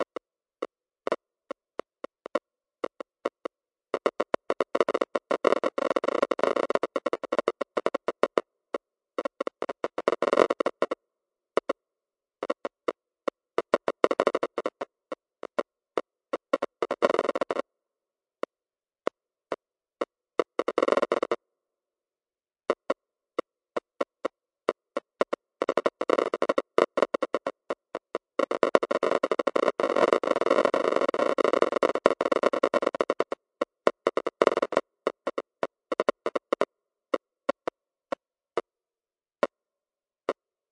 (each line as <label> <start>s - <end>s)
Static 0.0s - 11.0s
Static 11.6s - 11.8s
Static 12.4s - 17.7s
Static 19.0s - 21.4s
Static 22.7s - 38.7s